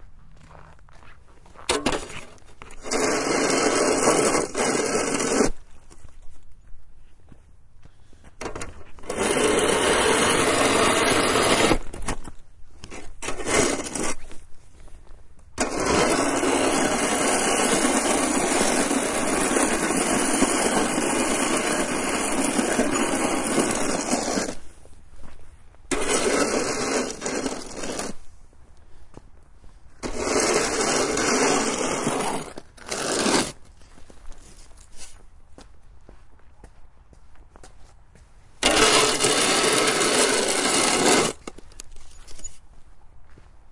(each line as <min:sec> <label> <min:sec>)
0:01.7 Shoveling Snow 0:05.7
0:08.6 Shoveling Snow 0:14.5
0:15.6 Shoveling Snow 0:24.9
0:25.9 Shoveling Snow 0:28.4
0:30.0 Shoveling Snow 0:33.8
0:38.6 Shoveling Snow 0:42.6